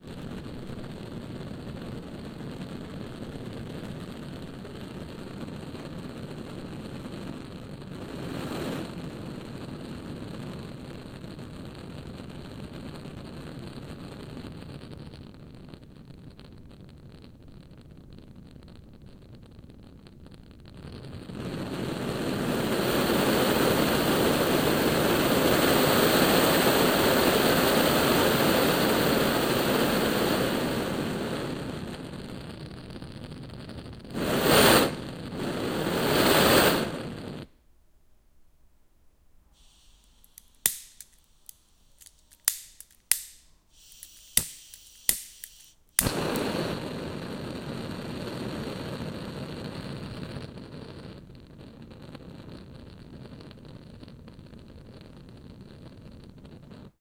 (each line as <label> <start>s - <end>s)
blowtorch 6.6s - 9.8s
blowtorch 20.9s - 32.3s
blowtorch 34.1s - 37.5s
blowtorch 39.6s - 51.2s